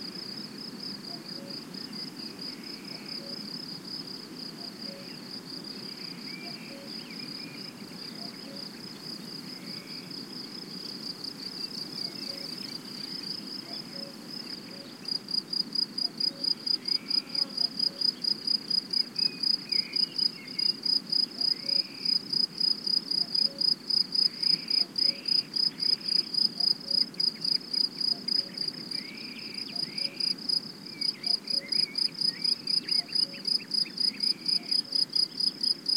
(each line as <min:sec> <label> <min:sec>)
0:00.0 other insects in background 0:35.9
0:00.1 Crickets singing 0:35.9
0:01.1 cuckoo 0:01.7
0:02.8 cuckoo 0:03.5
0:04.6 cuckoo 0:05.2
0:06.4 cuckoo 0:08.8
0:12.0 cuckoo 0:12.7
0:13.6 cuckoo 0:15.1
0:16.0 cuckoo 0:18.2
0:21.3 cuckoo 0:22.1
0:23.2 cuckoo 0:23.7
0:24.4 cuckoo 0:25.4
0:28.1 cuckoo 0:30.3
0:31.1 cuckoo 0:35.2